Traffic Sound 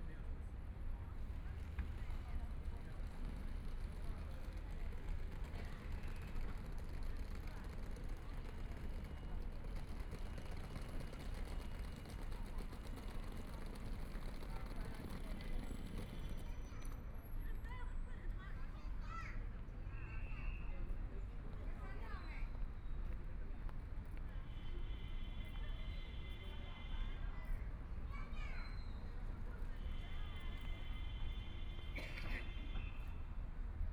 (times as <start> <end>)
1.4 17.2